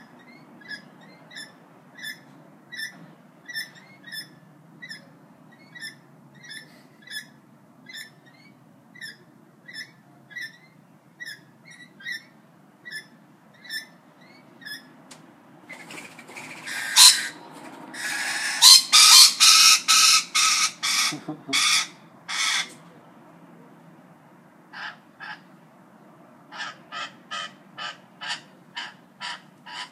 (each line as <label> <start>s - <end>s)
Wings 15.7s - 22.8s